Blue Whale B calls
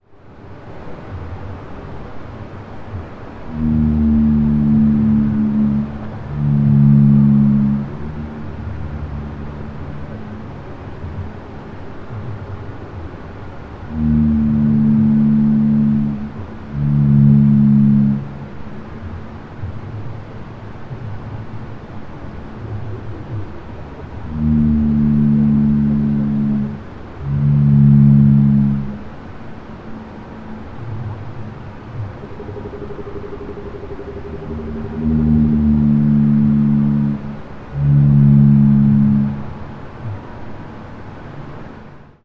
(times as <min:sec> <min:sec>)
0:03.4 0:11.4, 0:13.9 0:19.1, 0:22.6 0:40.2